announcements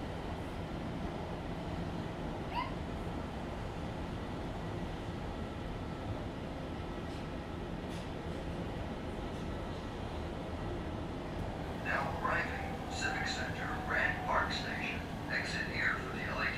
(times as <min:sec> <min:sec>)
0:11.6 0:16.5